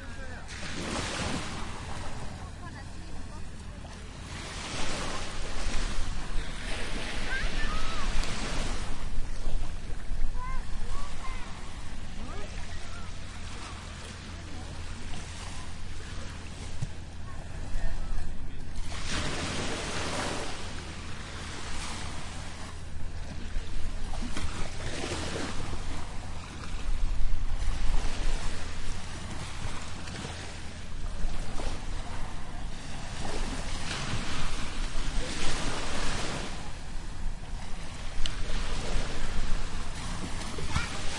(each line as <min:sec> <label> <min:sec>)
0:00.0 voices 0:19.4
0:00.0 waves 0:41.1
0:37.9 voices 0:41.1